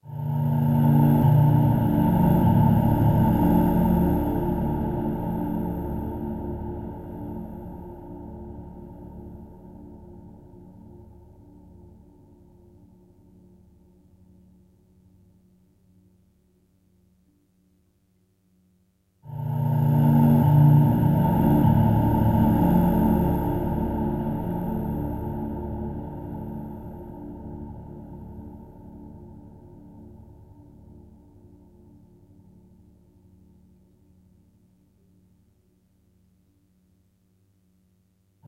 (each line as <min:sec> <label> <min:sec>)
0:00.0 drone 0:10.2
0:19.3 drone 0:29.8